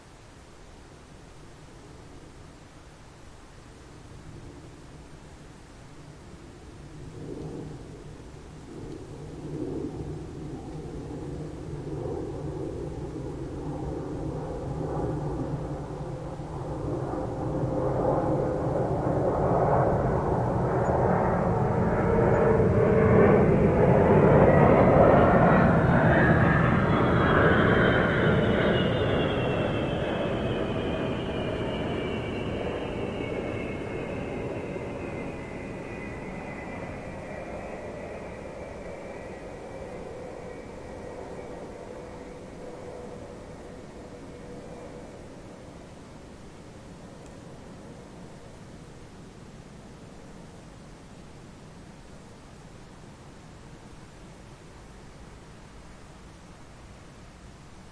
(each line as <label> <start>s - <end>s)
Airliner flying low 6.1s - 51.1s